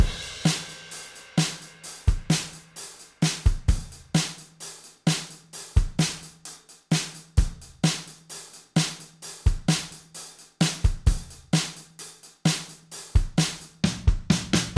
Drum beat 0.0 - 14.7

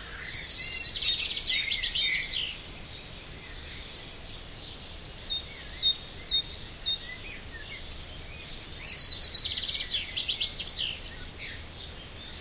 choir of birds 0.0 - 12.4

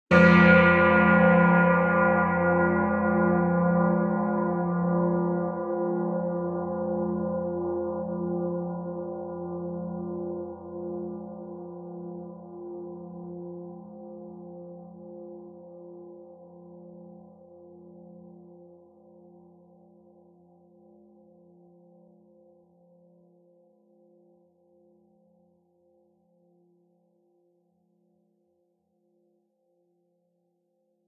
Deep Church Bell 0.1 - 25.0

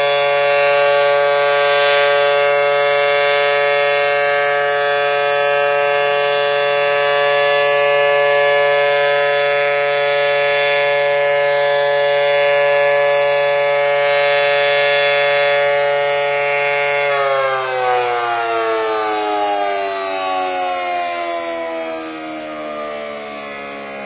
3-phase dual tone siren 0.0 - 24.0

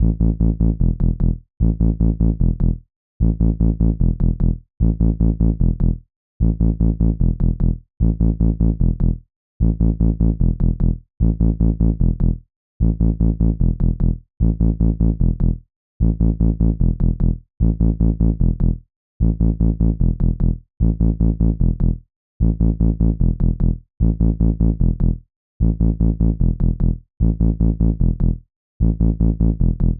anarcy bass loop 0.0 - 29.9

